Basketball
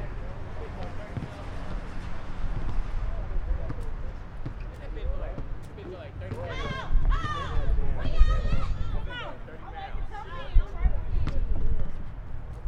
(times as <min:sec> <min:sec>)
0:00.6 0:08.6, 0:11.2 0:12.0